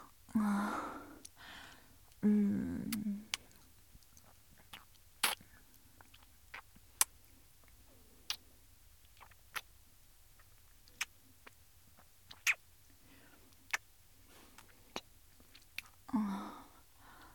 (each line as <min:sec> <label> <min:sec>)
0:03.3 Popsicle sucking licking pop 0:07.2
0:09.0 Popsicle sucking licking pop 0:09.7
0:10.4 Popsicle sucking licking pop 0:12.6